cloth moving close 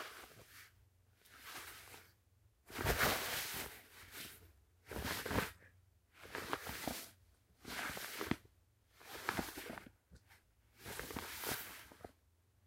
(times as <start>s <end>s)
2.7s 5.5s, 10.8s 12.1s